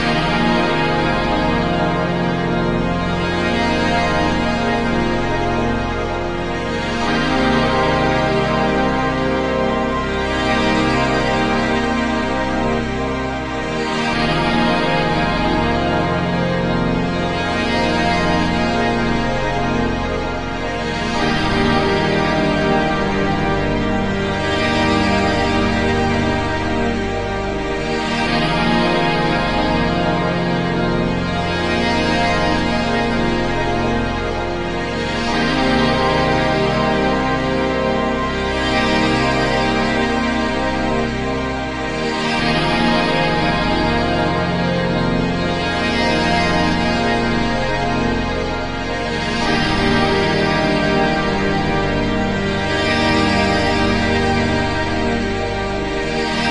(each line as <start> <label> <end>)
0.0 drone 56.5